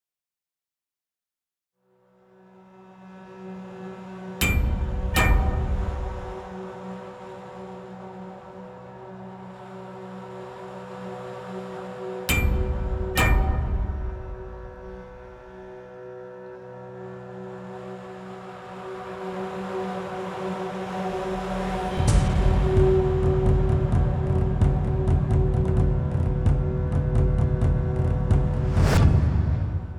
Low drones 0:02.3 - 0:29.9
clashing of steel pipes 0:04.4 - 0:06.5
hammered drums 0:04.4 - 0:06.5
clashing of steel pipes 0:12.3 - 0:15.5
hammered drums 0:12.3 - 0:15.6

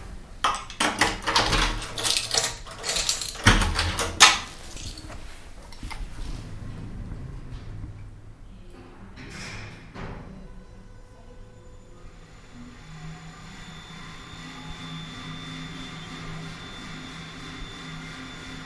apartment door 0:00.0 - 0:07.9

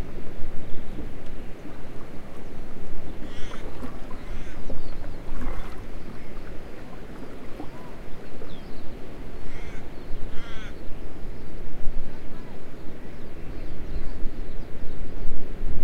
canoe 0:00.0 - 0:15.7
water 0:00.0 - 0:15.8
wind 0:00.0 - 0:15.8
pelican 0:03.1 - 0:08.6
pelican 0:09.4 - 0:10.8

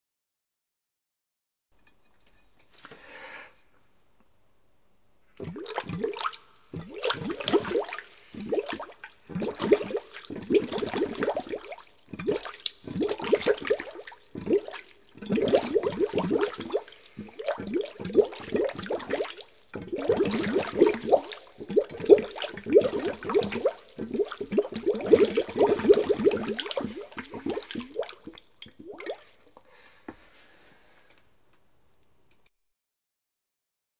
bubbling liquid 0:05.4 - 0:29.7

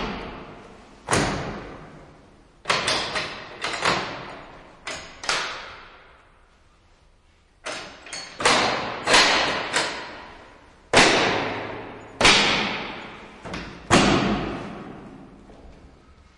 Metal lock and latch of a cell 0:02.6 - 0:06.2
Metal lock and latch of a cell 0:07.6 - 0:15.0

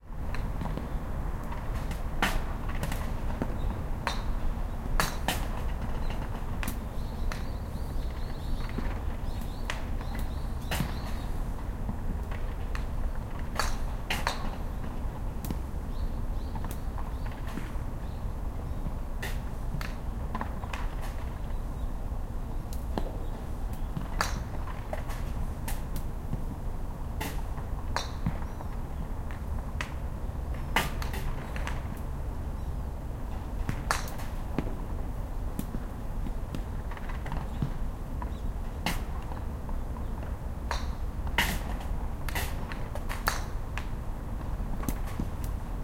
balls and the grilles 0:00.2 - 0:45.8
Birds 0:03.3 - 0:11.7
Birds 0:15.8 - 0:25.0
Birds 0:28.0 - 0:31.9

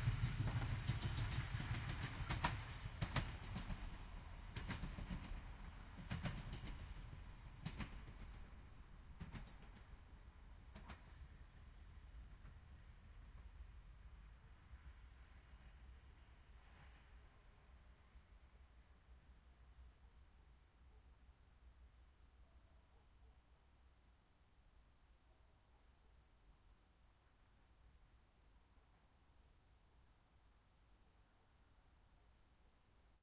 Train Passing By Medium Speed L to R 0:00.0 - 0:19.8

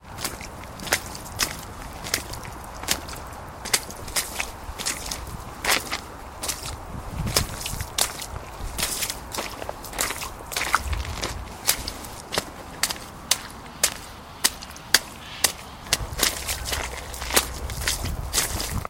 footsteps splashing in small puddles and some mud 0:00.0 - 0:18.8
wind interference 0:14.8 - 0:18.8

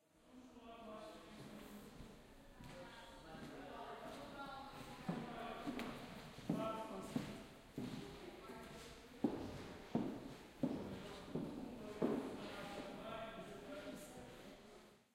Person walking 0:03.4 - 0:12.9

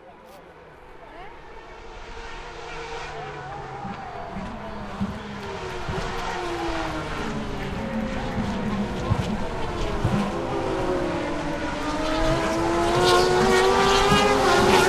go accelerating to back-straight 0:00.5 - 0:14.8
Cars came down-shifting to 1rst turn 0:02.4 - 0:14.8

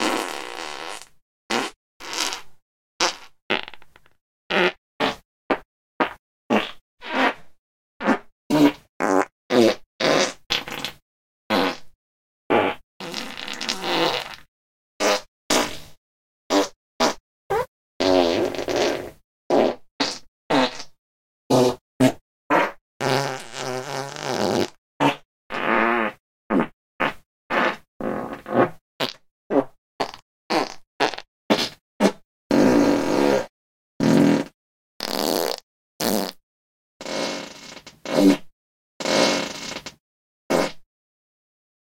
Fart Combo Slow 0:00.0 - 0:07.4
Fart Combo Slow 0:08.0 - 0:11.9
Fart Combo Slow 0:12.5 - 0:15.9
Fart Combo Slow 0:16.5 - 0:36.4
Fart Combo Slow 0:37.0 - 0:40.9

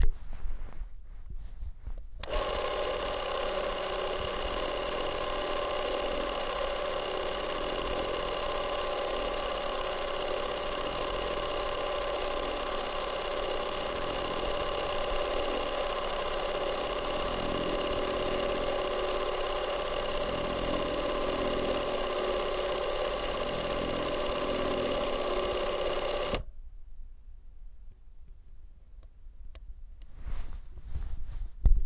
Super 8 camera running 0:02.2 - 0:26.5

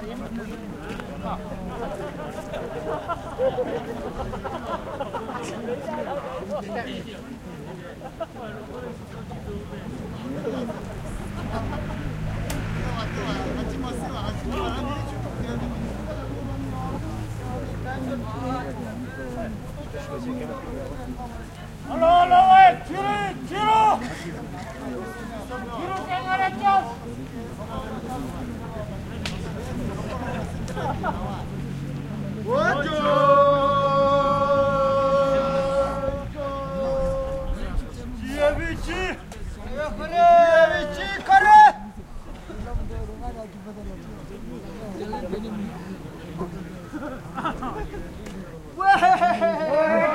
singing songs of encouragement 0:30.4 - 0:41.3

